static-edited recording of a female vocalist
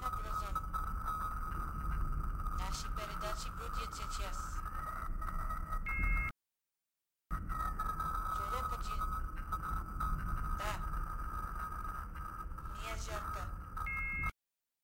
10.6s 10.8s

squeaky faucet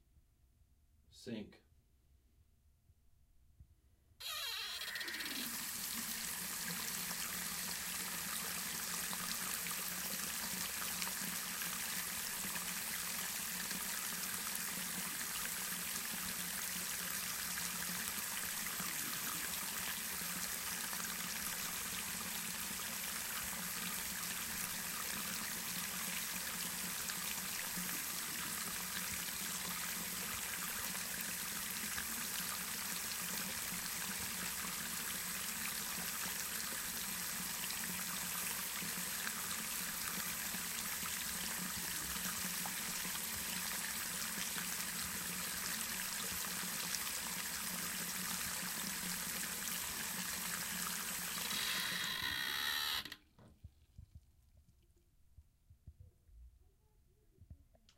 4.2s 6.2s, 51.3s 53.2s

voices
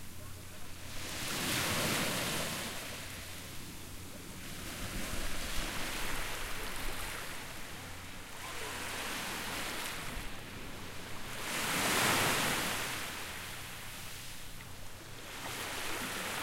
0.0s 1.1s, 6.0s 11.7s

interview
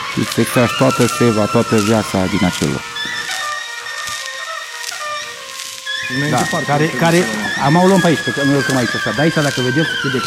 0.2s 2.9s, 6.0s 10.2s

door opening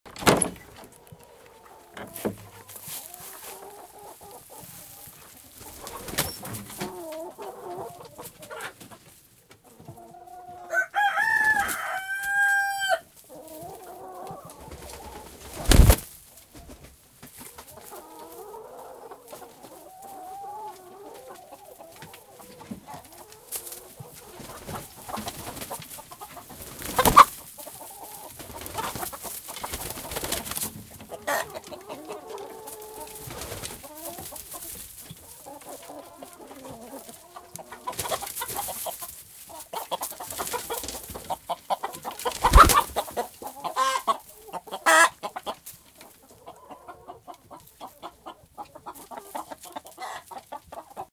0.1s 0.9s

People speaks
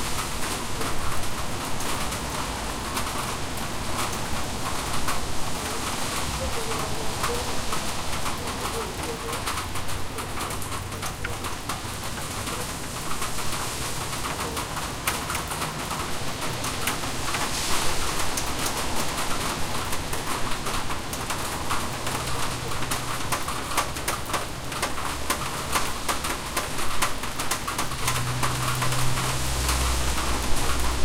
6.4s 7.6s, 8.4s 9.6s

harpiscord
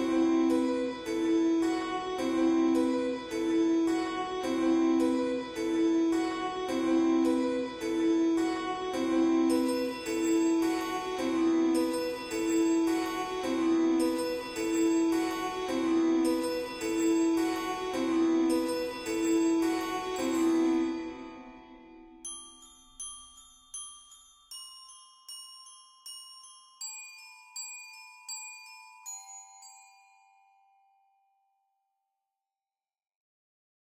0.0s 23.8s

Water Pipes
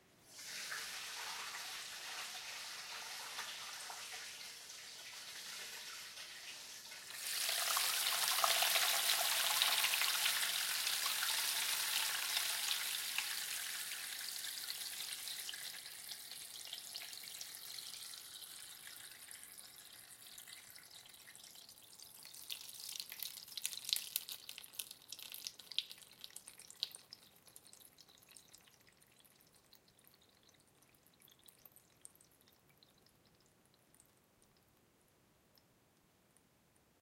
0.2s 29.2s

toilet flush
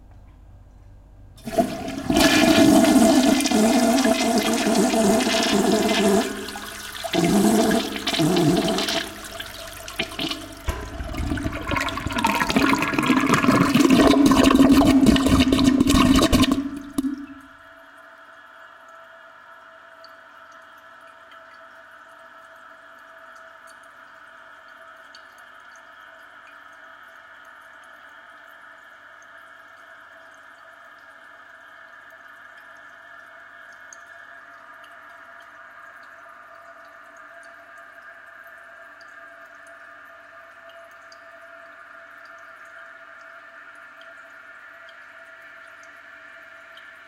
1.4s 17.6s

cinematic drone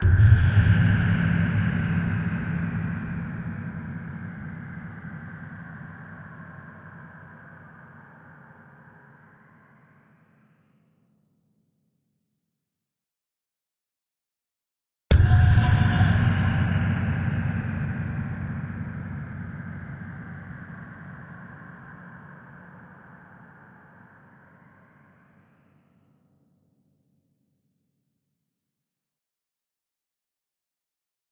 0.0s 7.8s, 15.1s 24.8s

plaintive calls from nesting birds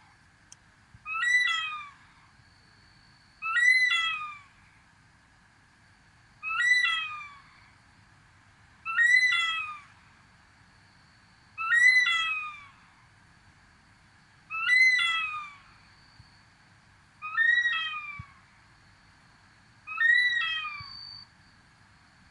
6.5s 7.4s, 8.9s 9.9s, 11.6s 12.8s, 14.6s 15.6s

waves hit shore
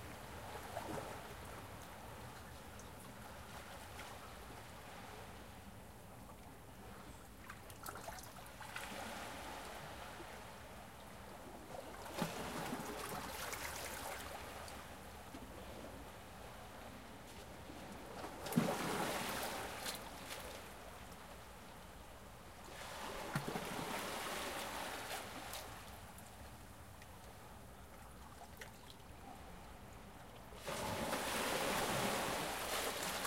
30.6s 33.2s

